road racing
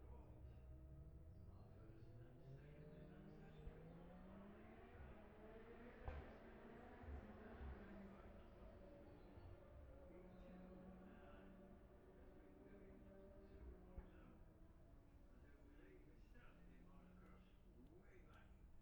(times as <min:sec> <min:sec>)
0:03.2 0:09.8